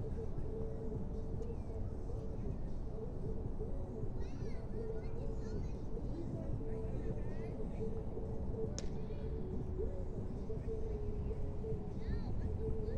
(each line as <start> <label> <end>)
8.7 Baseball game 9.0